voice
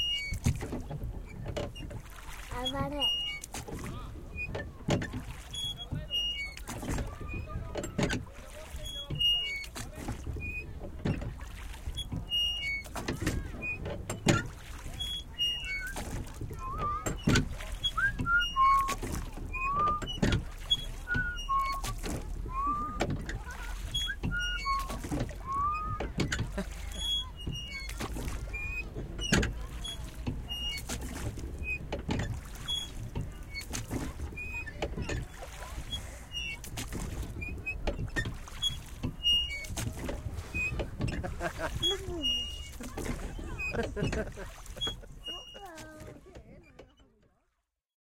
2.5s 3.1s, 41.3s 44.4s, 45.1s 47.2s

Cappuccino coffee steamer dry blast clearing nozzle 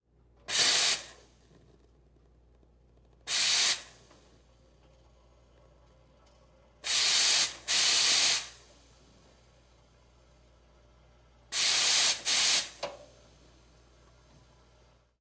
0.5s 1.8s, 3.3s 4.2s, 6.8s 9.3s, 11.5s 13.3s

